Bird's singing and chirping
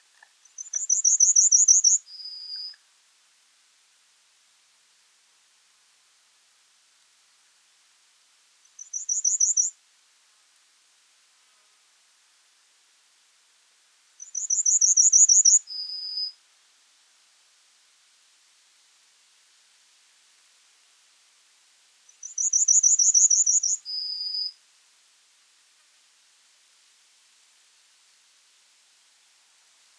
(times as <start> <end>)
0.6 2.8, 22.3 23.8